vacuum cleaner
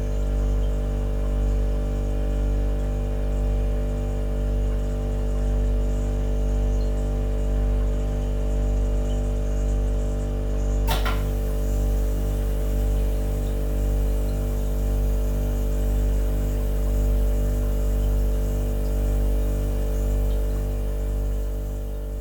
10.9s 18.1s

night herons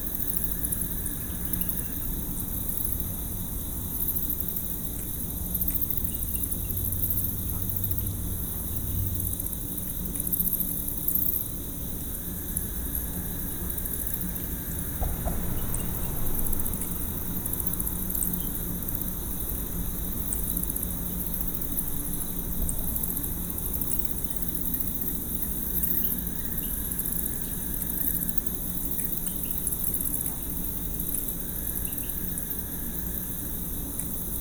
12.2s 20.1s

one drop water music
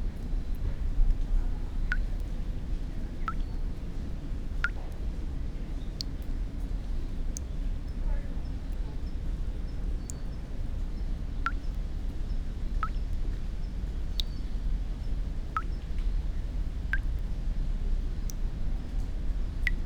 19.6s 19.8s

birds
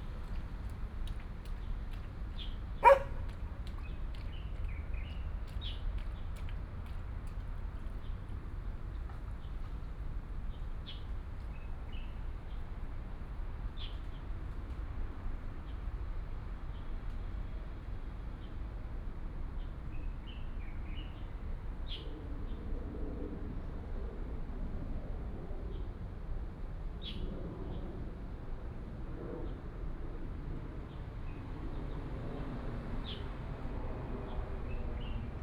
2.4s 3.2s

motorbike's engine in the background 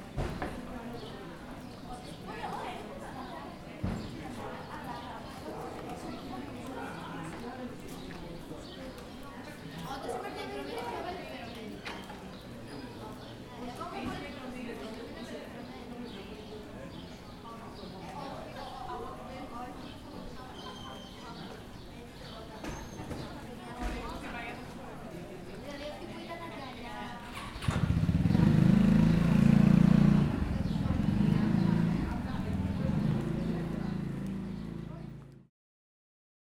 27.3s 35.5s

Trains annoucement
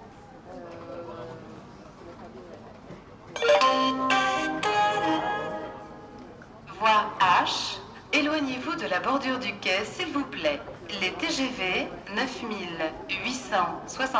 3.4s 9.1s

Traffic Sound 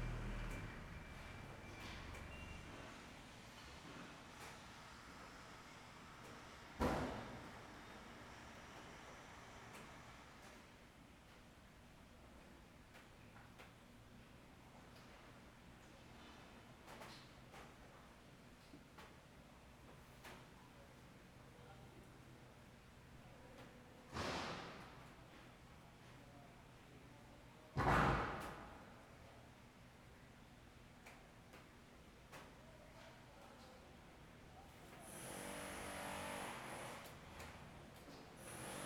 0.0s 3.4s

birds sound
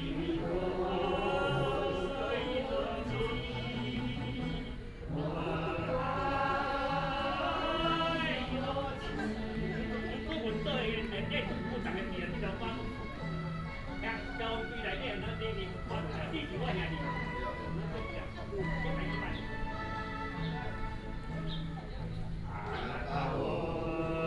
19.3s 23.2s

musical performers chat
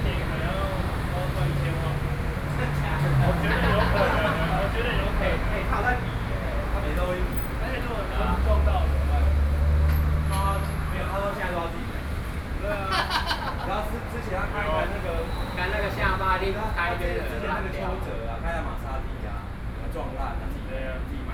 0.0s 9.5s

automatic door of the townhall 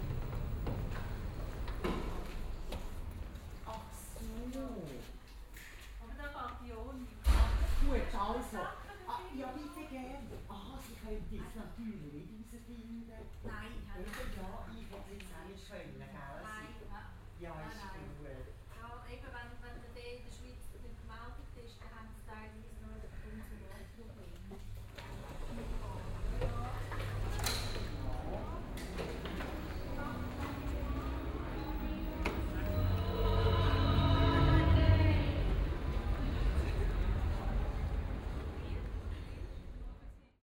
0.0s 6.0s, 24.6s 39.8s

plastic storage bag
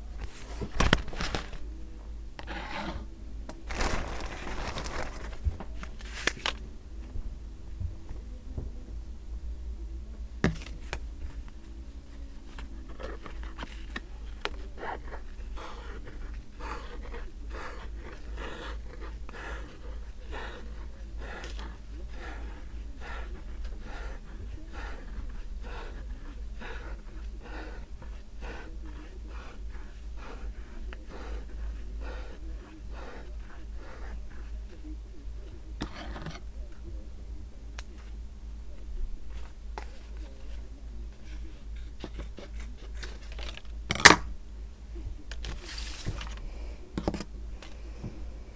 3.6s 6.6s

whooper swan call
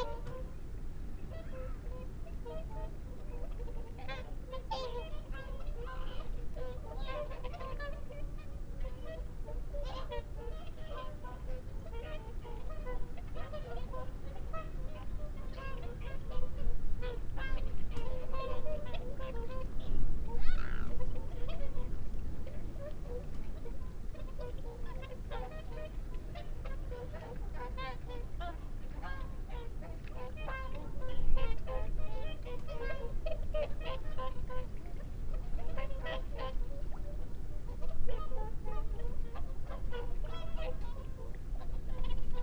20.3s 21.8s

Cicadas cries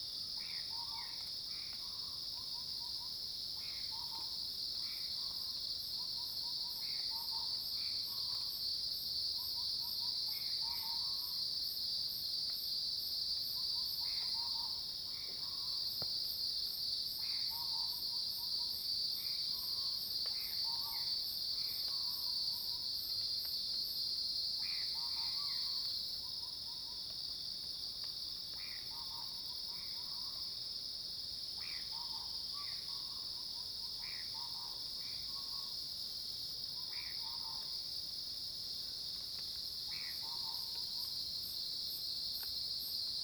17.1s 23.2s, 31.6s 35.9s, 36.7s 37.9s, 39.4s 43.2s

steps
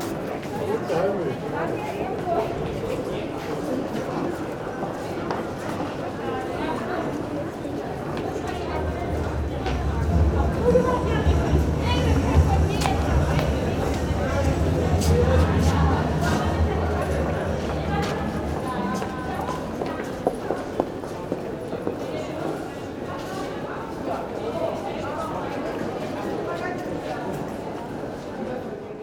8.0s 21.5s

